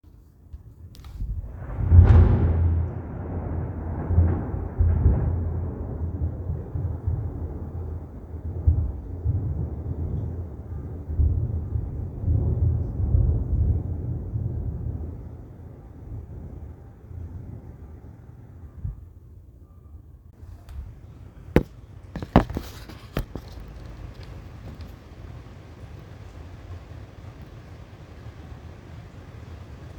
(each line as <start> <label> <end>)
0.1 rain 19.5
1.0 thunder 19.2
20.3 rain 29.9